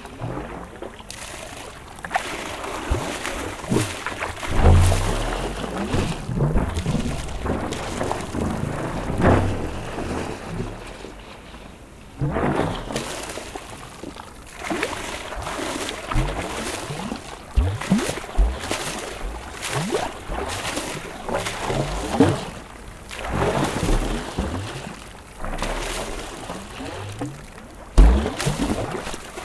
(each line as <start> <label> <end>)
0.0 river, where water is thrown 29.4
1.1 Mad pump 10.1
12.3 Mad pump 29.4
14.2 pipes make strange mad sounds of reflux 29.4